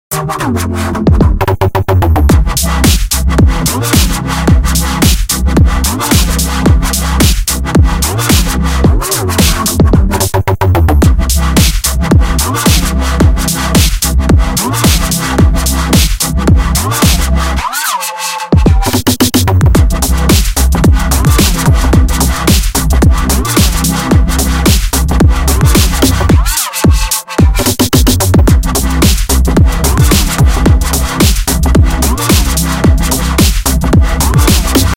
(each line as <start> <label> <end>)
0.0 bass 17.9
0.1 perc 34.9
1.2 hats 17.4
2.3 kick 4.2
2.8 snare 3.2
3.9 snare 4.2
5.0 snare 5.4
5.0 kick 10.1
6.0 snare 6.5
7.2 snare 7.6
8.3 snare 8.6
8.3 pad 14.0
9.2 snare 10.3
11.0 kick 17.2
11.5 snare 11.9
12.6 snare 13.0
13.8 snare 14.1
14.7 snare 15.2
15.9 snare 16.2
17.0 snare 17.9
18.5 bass 34.9
18.5 hats 34.9
18.6 pad 33.6
19.7 kick 24.9
20.2 snare 20.6
21.3 snare 21.8
22.4 snare 22.8
23.4 snare 24.0
24.6 snare 25.0
25.7 snare 28.3
25.7 kick 33.6
29.0 snare 29.4
30.0 snare 30.5
31.2 snare 31.5
32.1 snare 33.7
34.4 snare 34.9